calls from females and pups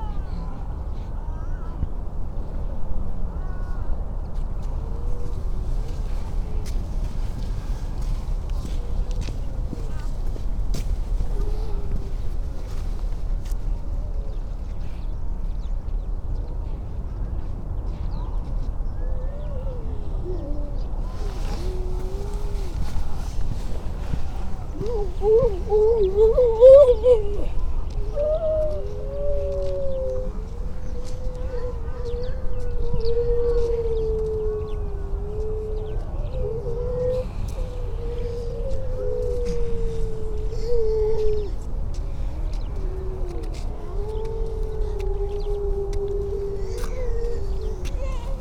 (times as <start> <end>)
19.3 48.4